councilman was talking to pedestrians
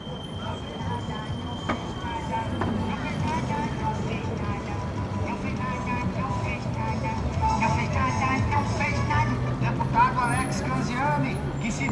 7.4 11.9

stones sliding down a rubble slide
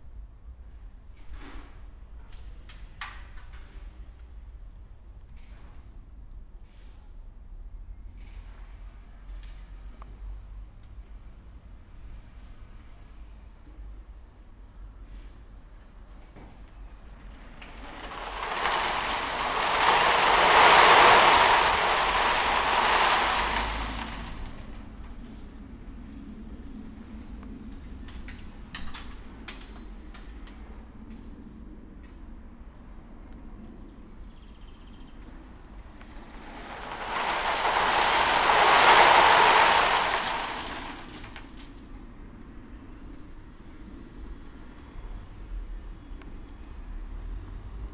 17.5 24.9, 36.0 41.7

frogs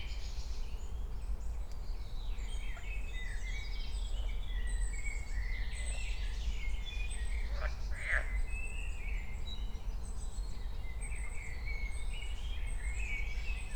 7.4 8.4

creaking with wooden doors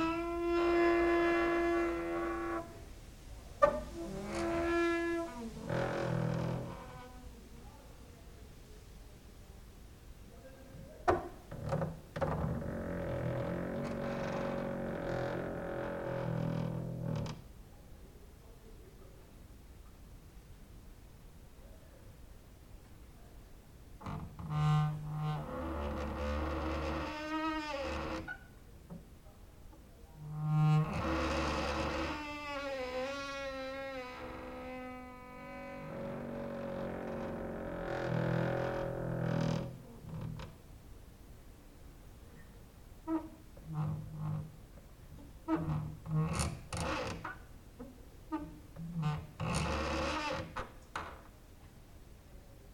0.0 2.8, 3.6 7.3, 11.0 17.5, 24.0 29.0, 30.2 40.6, 43.0 51.3

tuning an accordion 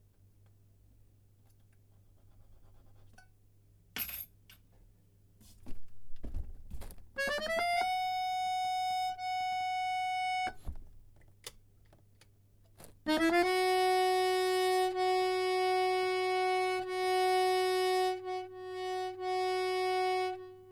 7.2 10.7, 12.8 20.7

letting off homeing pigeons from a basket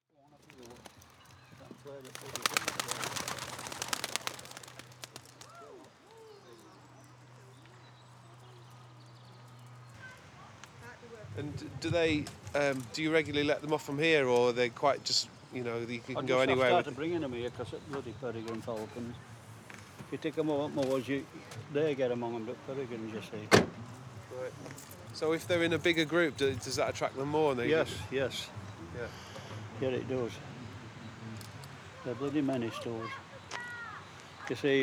0.4 6.0

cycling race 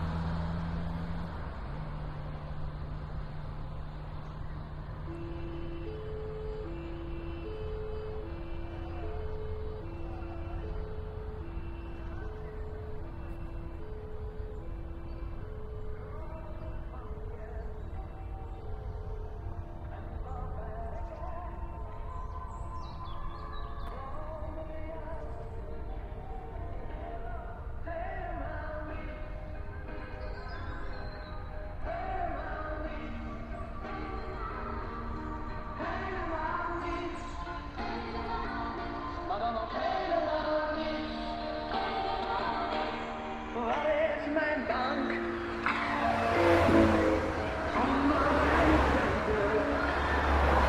44.0 50.6

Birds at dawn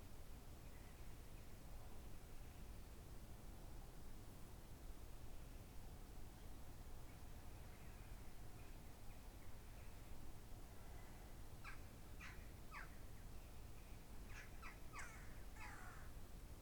14.3 16.1

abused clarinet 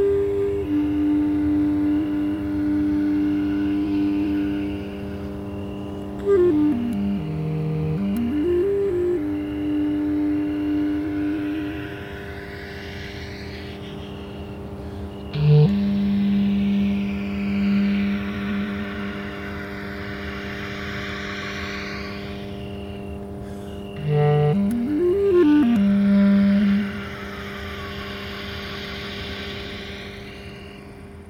0.0 5.4, 6.0 12.4, 15.3 19.7, 24.0 28.2

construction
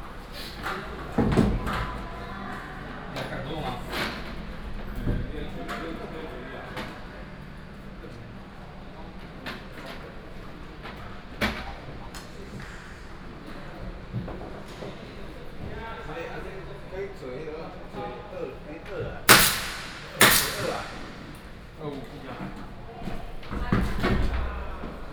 8.6 16.9, 17.9 25.1

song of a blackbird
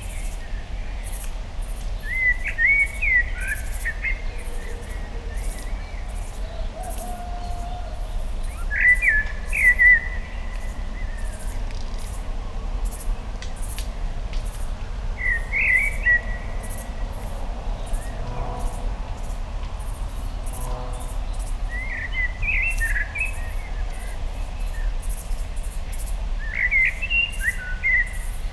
0.0 12.2, 20.1 28.5

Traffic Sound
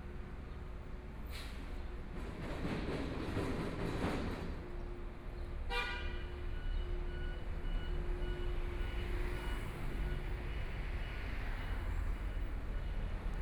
4.7 13.4

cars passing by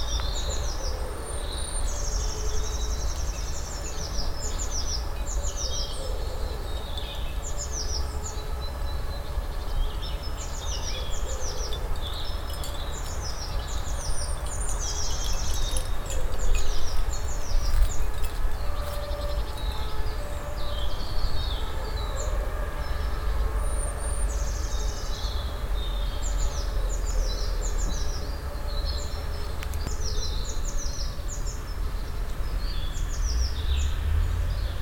22.2 34.8

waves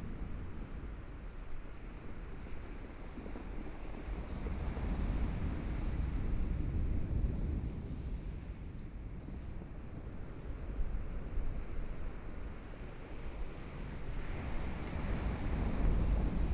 9.5 16.5

